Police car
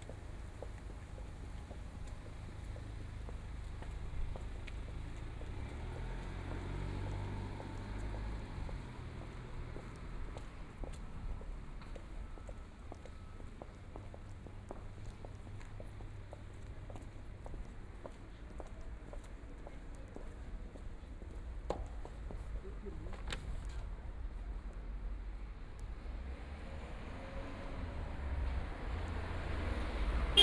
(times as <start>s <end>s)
26.6s 30.4s